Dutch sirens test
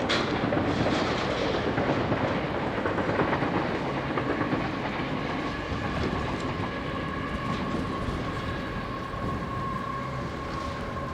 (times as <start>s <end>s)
5.9s 11.1s